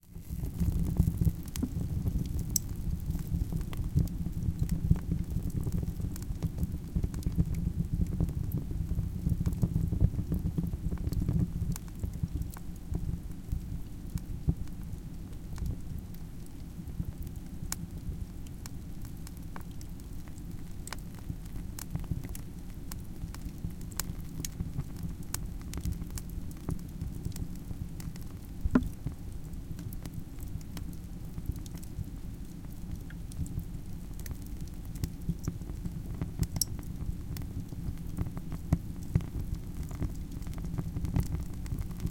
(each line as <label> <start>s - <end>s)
wood burning stove 0.0s - 42.1s